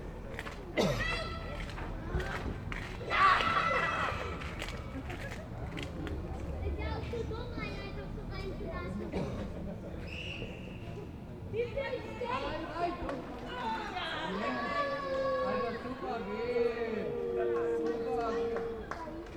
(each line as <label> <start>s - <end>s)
kids playing football in a sandlot 0.0s - 19.3s